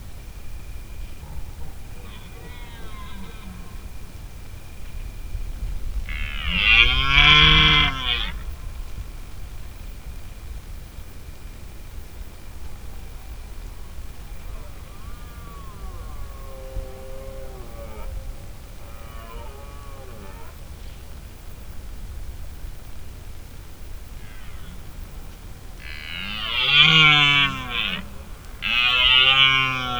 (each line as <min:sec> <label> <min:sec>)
0:00.0 slight buzz 0:29.9
0:01.0 Stag bellowing 0:04.2
0:06.1 Stag bellowing 0:08.6
0:13.0 Stag bellowing 0:21.2
0:24.0 Stag bellowing 0:29.9